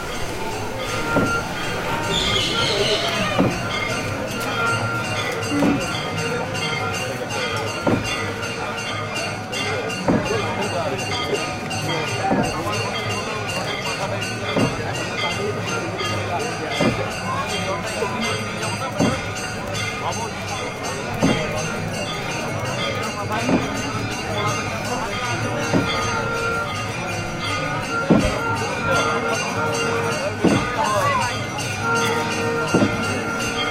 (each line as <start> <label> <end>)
0.0 river 9.0
0.0 boats 33.7
0.0 ceremony 33.7